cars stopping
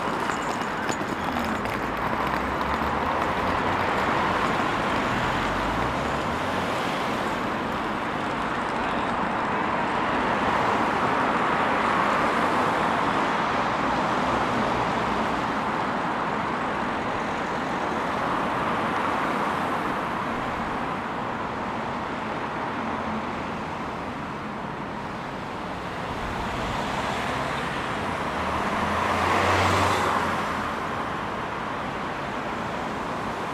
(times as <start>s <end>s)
0.0s 15.2s